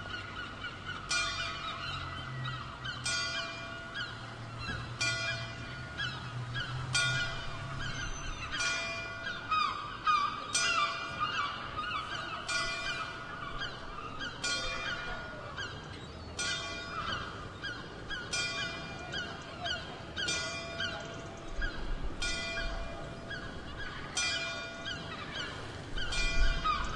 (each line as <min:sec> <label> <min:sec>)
0:00.1 seagull 0:26.9
0:01.1 bell 0:17.5
0:18.2 bell 0:21.6
0:22.2 bell 0:23.4
0:24.1 bell 0:26.9